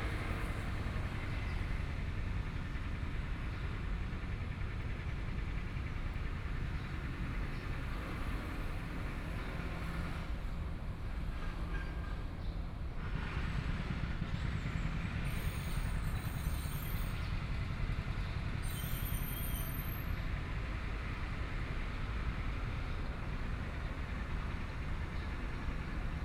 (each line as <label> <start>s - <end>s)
Road construction noise 0.0s - 26.2s
Traffic Sound 0.0s - 26.2s